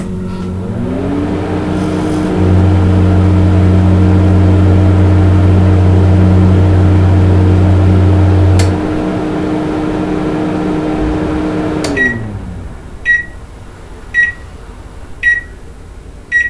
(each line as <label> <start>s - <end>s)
microwave 0.0s - 13.4s
MICROWAVE STARTUP BEEPS 11.7s - 12.4s
MICROWAVE STARTUP BEEPS 13.0s - 13.4s
MICROWAVE STARTUP BEEPS 14.2s - 14.5s
MICROWAVE STARTUP BEEPS 15.2s - 15.6s